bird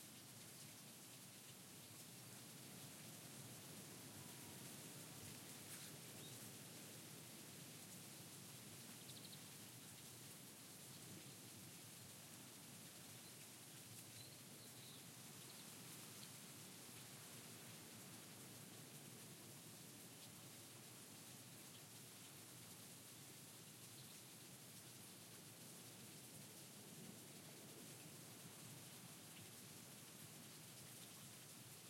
0:09.0 0:09.4, 0:14.1 0:16.3

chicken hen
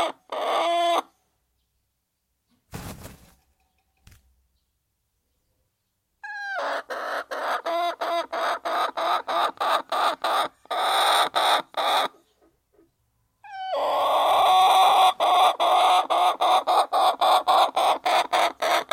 0:00.0 0:01.7, 0:05.8 0:18.9

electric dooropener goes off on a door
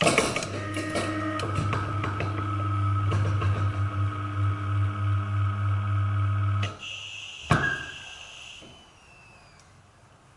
0:00.4 0:06.8

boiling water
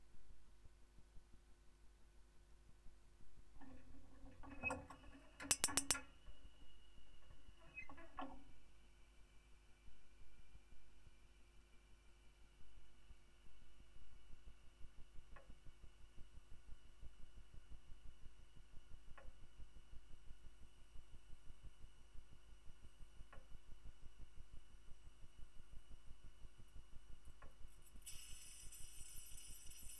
0:27.2 0:29.9

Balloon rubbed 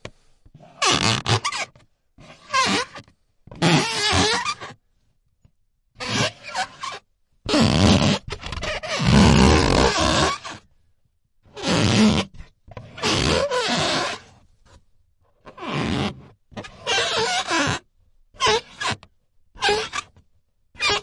0:00.6 0:03.0, 0:03.6 0:04.7, 0:06.0 0:10.6, 0:11.6 0:12.3, 0:12.9 0:14.4, 0:15.5 0:17.8

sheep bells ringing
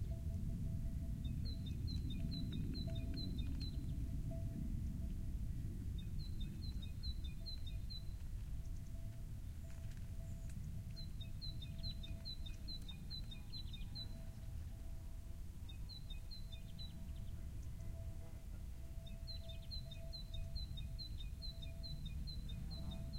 0:16.2 0:23.1

